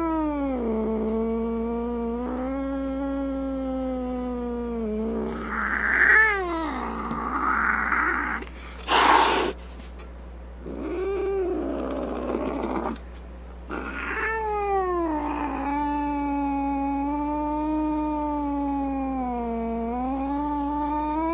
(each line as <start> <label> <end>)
0.0 angry cat sounds 9.6
0.0 growling 9.6
5.1 snorts 9.6
10.6 angry cat sounds 13.0
10.6 growling 13.0
13.7 angry cat sounds 21.3
13.7 growling 21.3
13.8 meow 21.3